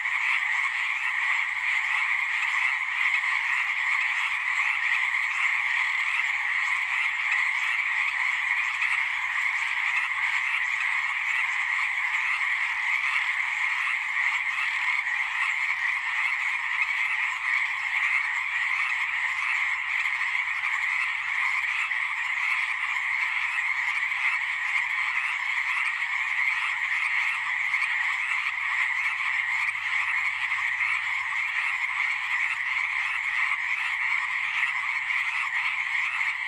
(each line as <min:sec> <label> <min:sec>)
0:00.0 Frogs at night croaking 0:36.4